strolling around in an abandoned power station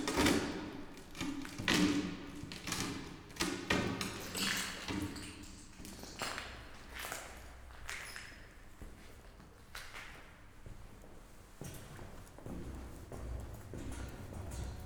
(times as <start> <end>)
5.4 14.8